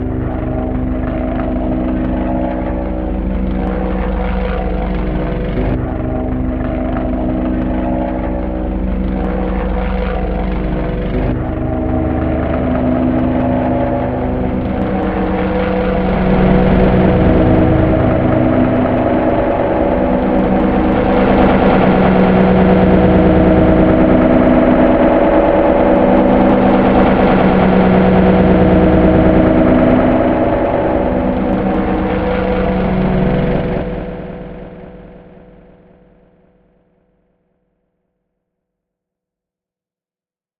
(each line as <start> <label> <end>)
0.0 Helicopter flying over house 37.7